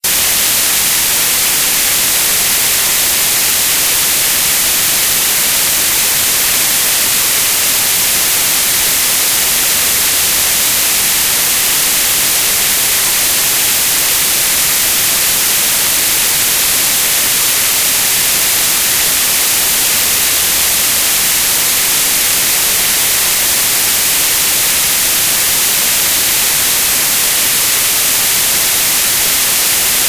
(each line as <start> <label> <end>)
0.0 Static 30.0